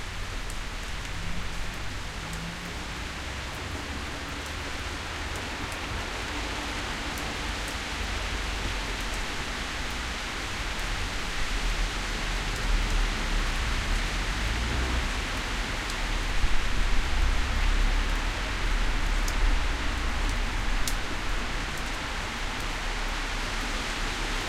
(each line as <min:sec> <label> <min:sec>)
0:00.0 Rain falling on road 0:24.4
0:00.0 moderate traffic 0:24.4